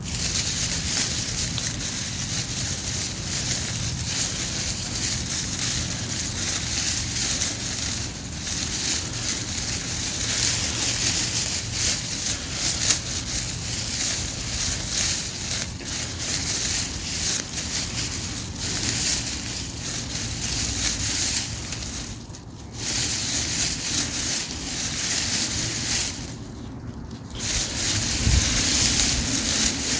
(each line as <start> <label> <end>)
0.0 bush rustling 29.9